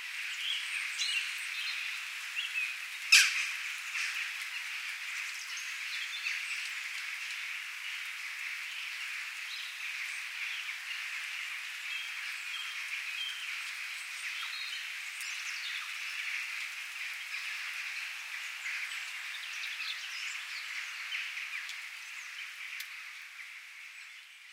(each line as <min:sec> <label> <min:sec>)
0:00.0 light rain 0:24.5
0:00.2 bird sounds 0:24.5